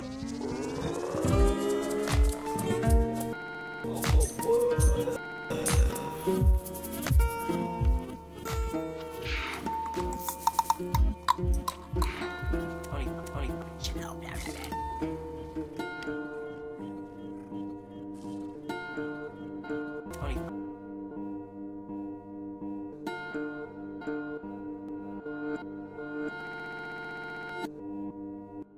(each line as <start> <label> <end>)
0.0 guitar 28.7
12.8 voice 14.8
20.1 voice 20.5